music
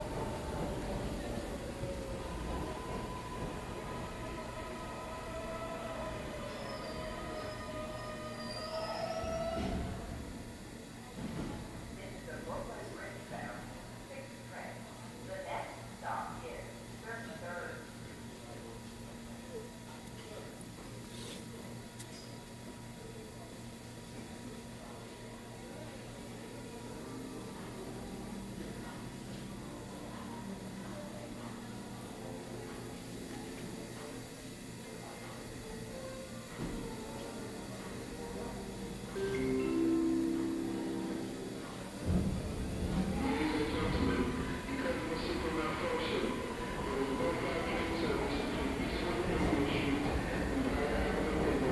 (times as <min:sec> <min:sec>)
0:35.8 0:42.5